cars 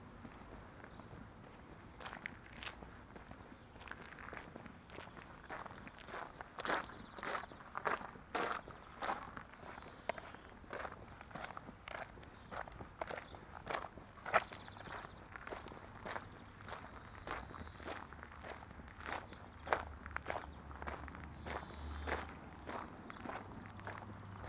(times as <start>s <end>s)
19.8s 24.4s